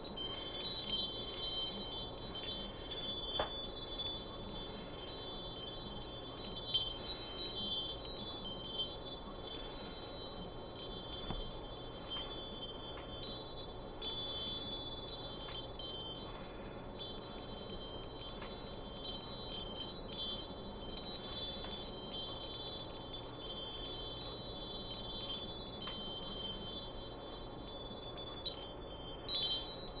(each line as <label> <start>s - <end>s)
Small wind chimes tinkling 0.0s - 30.0s